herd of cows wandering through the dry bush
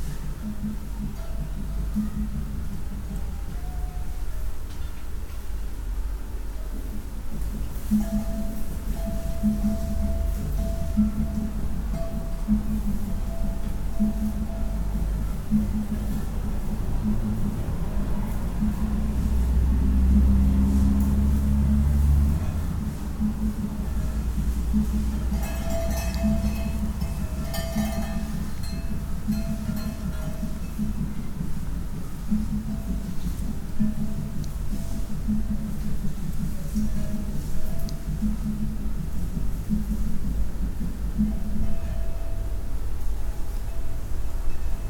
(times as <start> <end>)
7.4 42.6